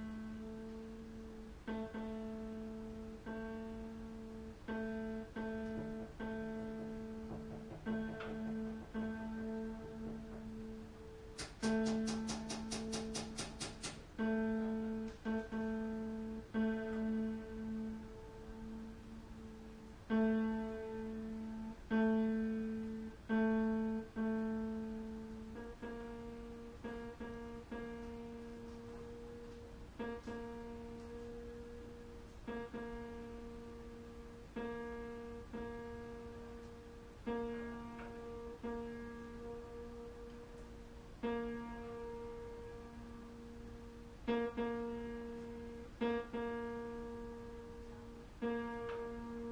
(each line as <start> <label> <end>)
0.0 background noise 49.5
0.0 tuning piano 49.5